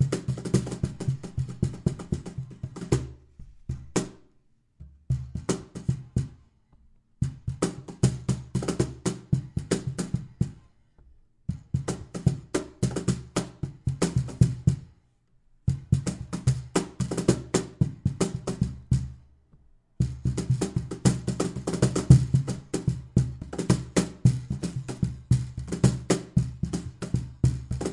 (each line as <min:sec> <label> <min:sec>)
0:00.0 cajon ramble 0:04.2
0:07.2 cajon ramble 0:10.7
0:20.0 cajon ramble 0:27.9